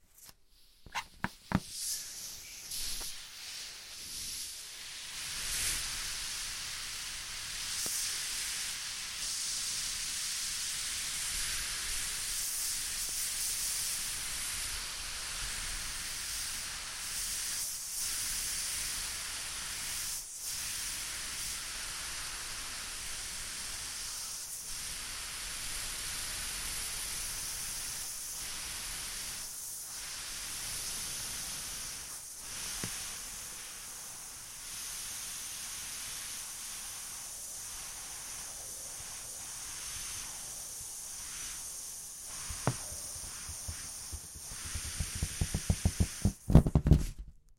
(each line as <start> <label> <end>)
0.2 Balloon Deflate Long 3.1
42.2 Balloon Deflate Long 47.4